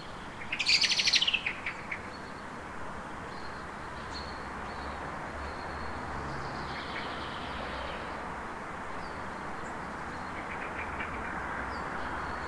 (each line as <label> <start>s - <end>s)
several birds 0.0s - 2.6s
several birds 8.9s - 12.4s